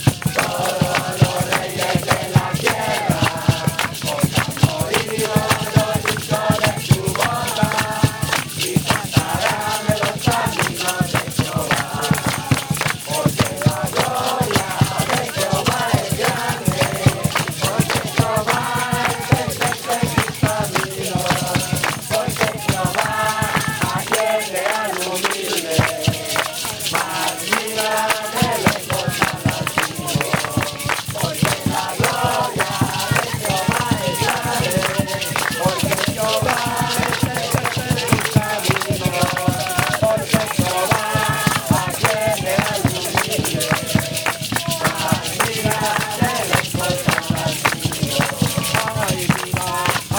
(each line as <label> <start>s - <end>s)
youth with mission evangelise and sing another song 0.0s - 50.1s